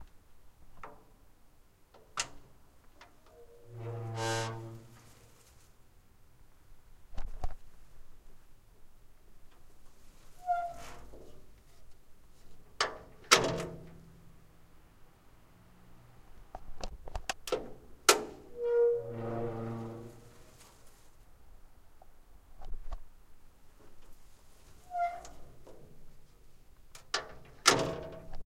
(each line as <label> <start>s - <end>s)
old metal door opening and closing 2.0s - 4.9s
squeaking hinges 3.3s - 5.0s
squeaking hinges 10.4s - 11.1s
old metal door opening and closing 10.4s - 11.3s
old metal door opening and closing 12.7s - 14.1s
old metal door opening and closing 17.5s - 20.3s
squeaking hinges 18.3s - 20.3s
squeaking hinges 24.8s - 25.6s
old metal door opening and closing 24.9s - 26.1s
old metal door opening and closing 27.0s - 28.4s